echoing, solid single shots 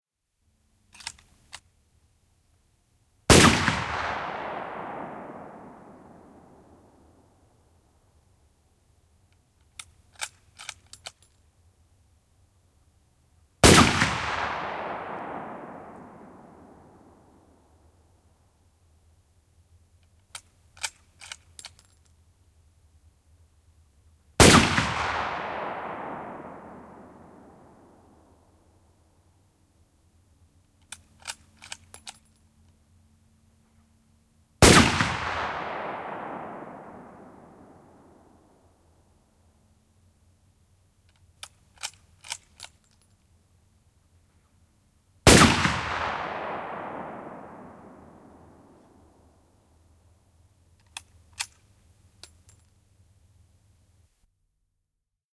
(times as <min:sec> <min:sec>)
0:03.3 0:07.5, 0:13.6 0:17.9, 0:24.4 0:28.9, 0:34.6 0:39.1, 0:45.2 0:49.8